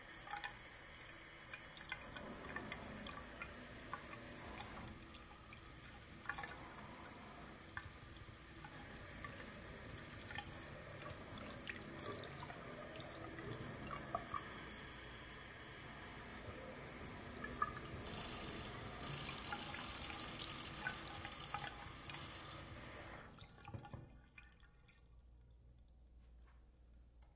Running the faucet 0:00.0 - 0:25.0
drain 0:00.0 - 0:27.0

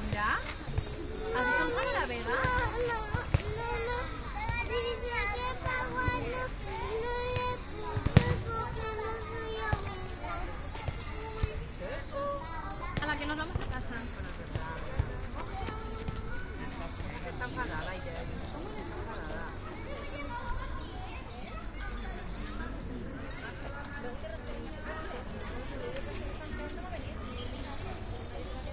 children who play, run and scream 0:00.5 - 0:13.2
children who play, run and scream 0:14.6 - 0:17.5
children who play, run and scream 0:18.8 - 0:24.0

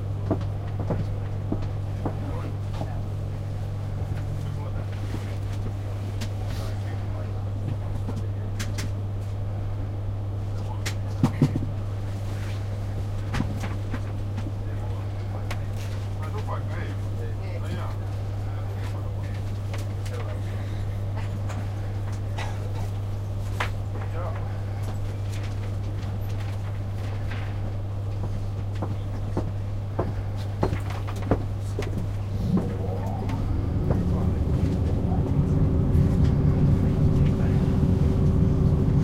pendolino train 0:31.8 - 0:39.0

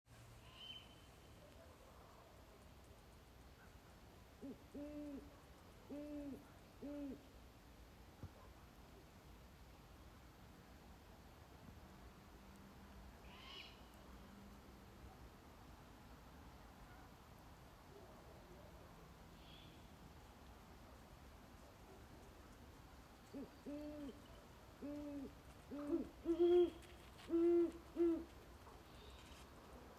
barn owl 0:04.4 - 0:07.3
barn owl 0:13.2 - 0:13.9
Ruru 0:17.8 - 0:29.9
barn owl 0:23.2 - 0:29.4
Great horn owls 0:23.2 - 0:29.5

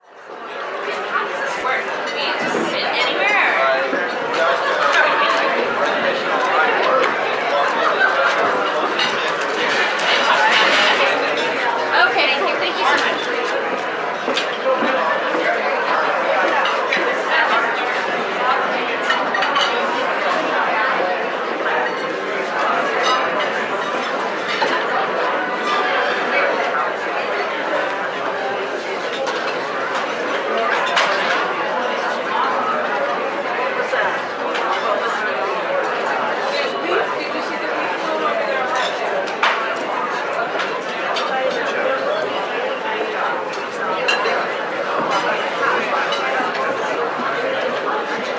Cafe crowd 0:00.0 - 0:48.3

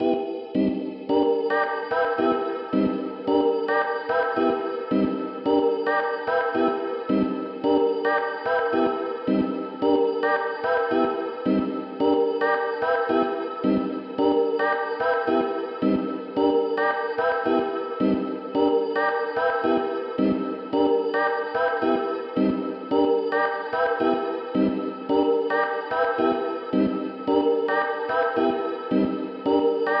chords 0:00.0 - 0:30.0

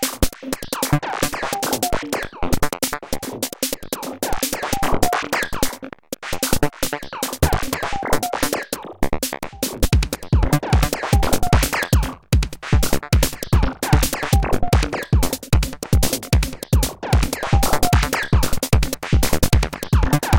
synthesizer 0:00.0 - 0:20.3
bass 0:04.1 - 0:20.3
snare 0:10.8 - 0:15.3
snare 0:15.9 - 0:20.3

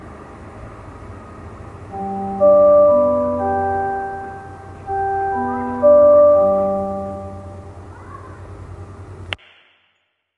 electronic bell 0:01.9 - 0:07.8

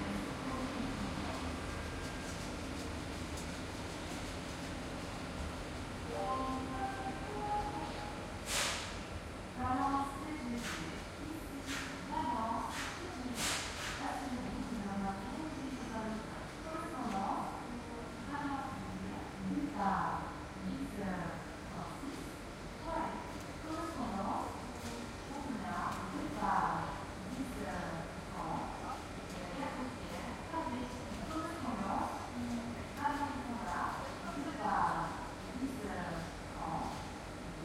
announcement 0:06.1 - 0:08.2

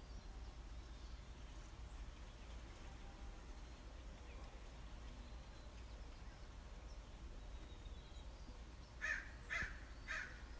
crows 0:09.0 - 0:10.5

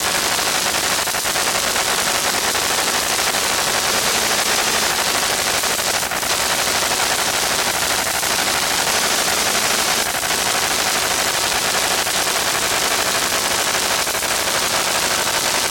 GPU noise 0:00.0 - 0:12.2

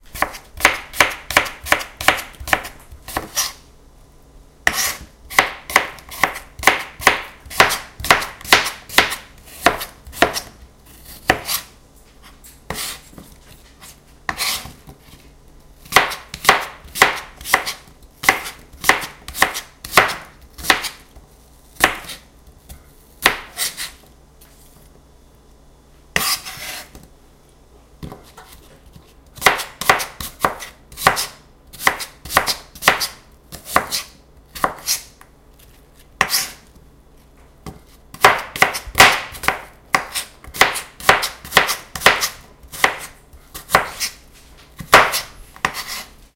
Chopping mushrooms with a chef knife on a big plastic cutting board 0:00.1 - 0:03.6
Chopping mushrooms with a chef knife on a big plastic cutting board 0:04.6 - 0:11.7
Chopping mushrooms with a chef knife on a big plastic cutting board 0:12.7 - 0:15.2
Chopping mushrooms with a chef knife on a big plastic cutting board 0:15.8 - 0:21.0
Chopping mushrooms with a chef knife on a big plastic cutting board 0:21.8 - 0:22.2
Chopping mushrooms with a chef knife on a big plastic cutting board 0:23.2 - 0:23.9
Chopping mushrooms with a chef knife on a big plastic cutting board 0:28.0 - 0:35.2
Chopping mushrooms with a chef knife on a big plastic cutting board 0:36.2 - 0:36.7
Chopping mushrooms with a chef knife on a big plastic cutting board 0:37.6 - 0:44.2
Chopping mushrooms with a chef knife on a big plastic cutting board 0:44.8 - 0:46.1

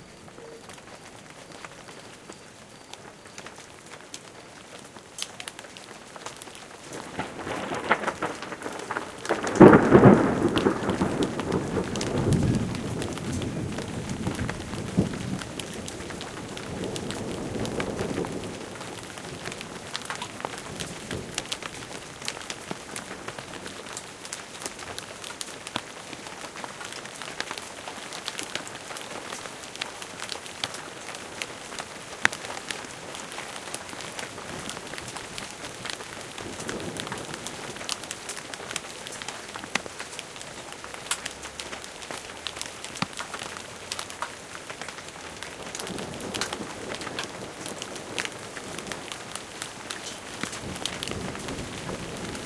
hail 0:00.0 - 0:52.4
rain 0:00.0 - 0:52.4
thunder 0:06.9 - 0:22.4
thunder 0:45.4 - 0:52.4

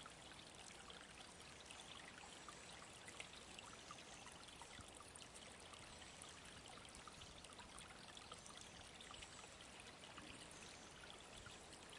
Small stream 0:00.0 - 0:11.9

